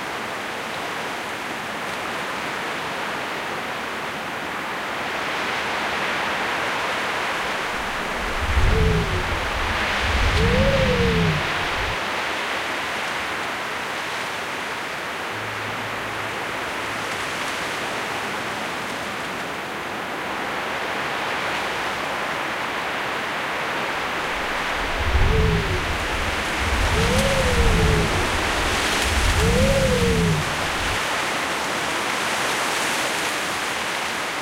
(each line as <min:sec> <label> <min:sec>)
0:00.0 wind 0:34.4